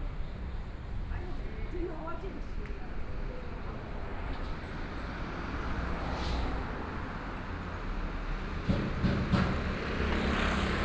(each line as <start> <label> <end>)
3.9 Traffic Sound 10.8